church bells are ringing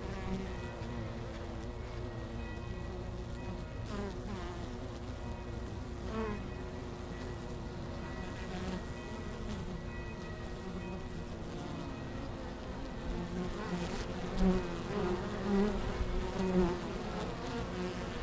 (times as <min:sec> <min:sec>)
0:00.6 0:04.0, 0:05.2 0:13.0